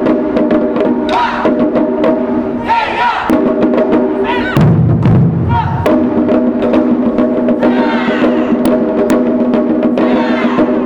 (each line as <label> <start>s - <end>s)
Taikos 0.0s - 10.8s
street musicians 0.0s - 10.8s
Shout 2.6s - 3.3s
Shout 4.2s - 4.6s
Shout 7.6s - 8.6s
Shout 10.0s - 10.7s